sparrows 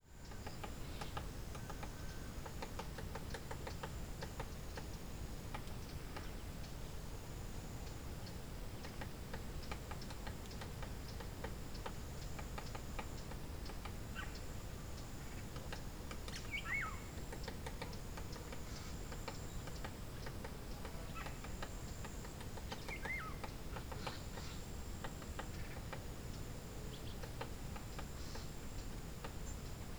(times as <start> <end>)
16.3 17.1, 22.7 24.6